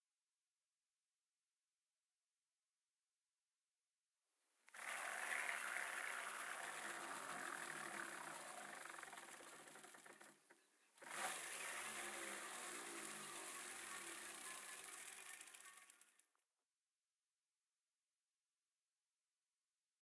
4.7s freewheel 16.4s
4.8s pedaling 16.2s
12.2s chain 16.2s

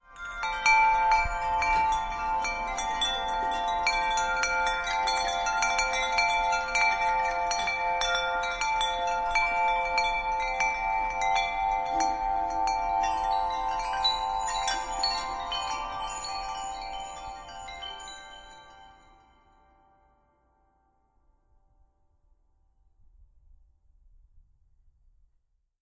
0.0s wind chimes 21.2s

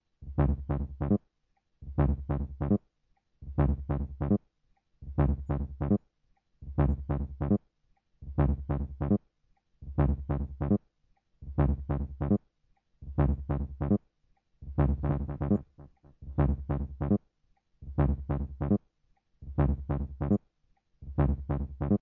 0.2s beat with kaoos 1.2s
1.8s beat with kaoos 2.8s
3.4s beat with kaoos 4.4s
5.0s beat with kaoos 6.0s
6.6s beat with kaoos 7.6s
8.2s beat with kaoos 9.2s
9.8s beat with kaoos 10.8s
11.4s beat with kaoos 12.4s
13.0s beat with kaoos 14.0s
14.6s beat with kaoos 17.2s
17.8s beat with kaoos 18.8s
19.4s beat with kaoos 20.4s
21.0s beat with kaoos 22.0s

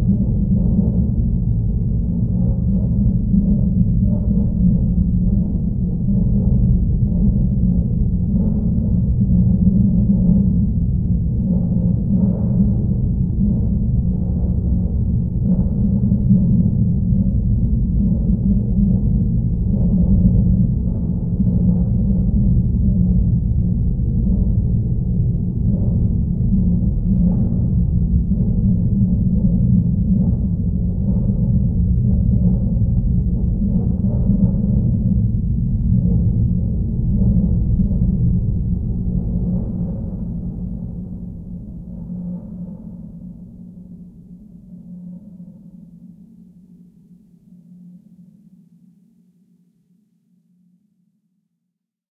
0.0s drone like background 51.4s

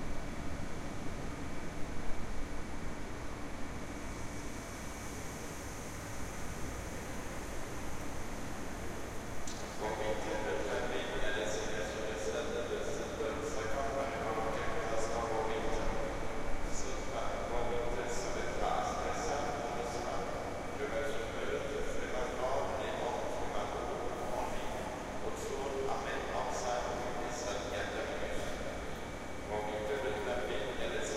0.0s trains arriving and departing 31.1s
7.0s passengers passing by can be heard speaking 31.1s
9.7s passenger announcement 31.1s

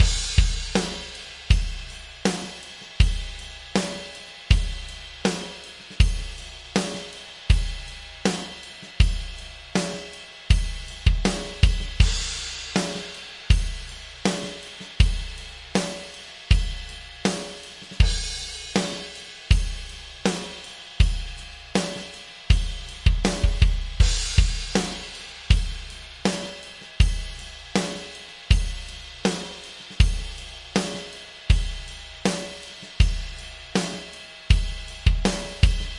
0.0s DRUMS 35.9s

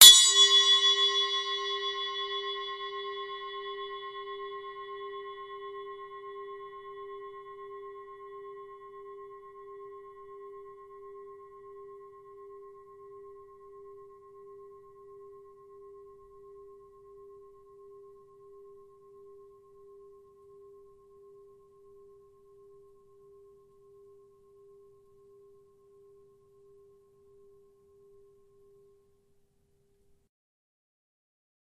0.0s zil bell 16.8s

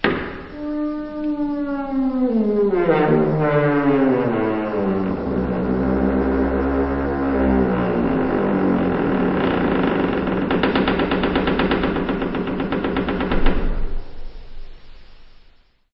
0.0s slamming 5.1s
0.0s Door creaking 14.6s
9.3s slamming 14.3s

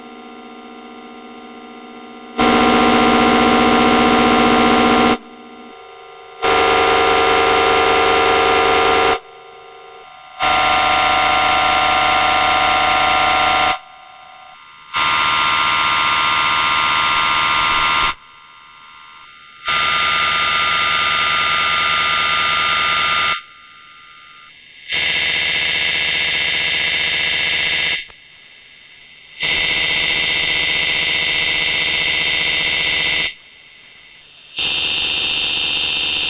0.0s Synthesizer 18.4s

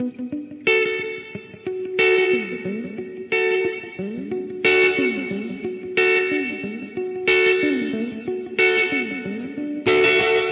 0.0s electric guitar 10.5s

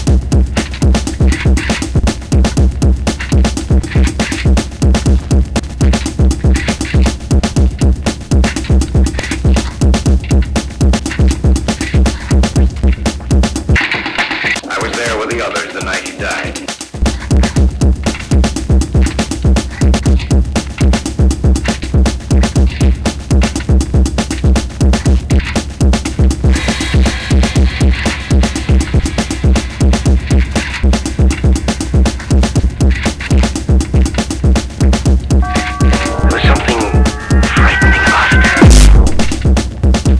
0.0s bass 14.6s
16.9s bass 40.1s
35.4s beat 39.7s

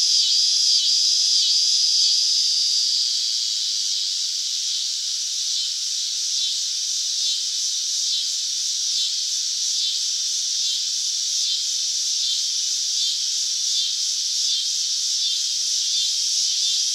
0.0s cicadas 16.9s

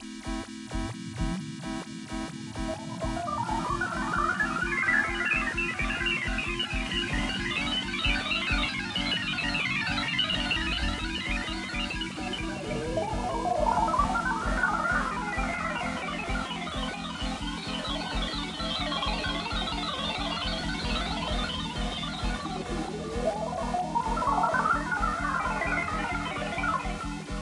0.2s beat 27.4s
2.6s computer sequence 27.2s

